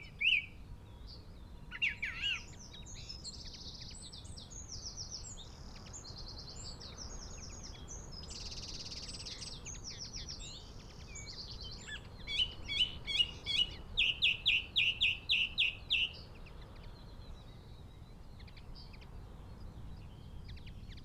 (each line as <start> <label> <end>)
0.0 song thrush song 21.0
0.0 wind 21.0
1.7 crow 2.5